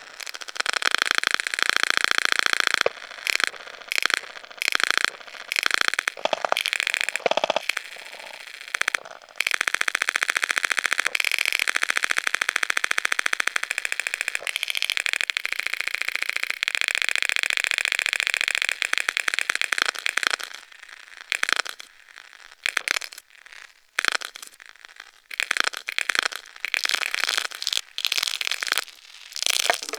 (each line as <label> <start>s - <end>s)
tape hiss 0.0s - 9.6s
crackle 0.0s - 29.9s